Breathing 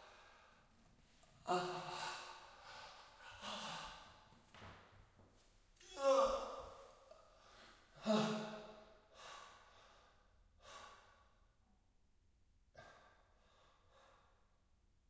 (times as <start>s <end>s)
0.0s 0.7s, 7.4s 8.0s, 9.1s 11.4s, 12.8s 14.5s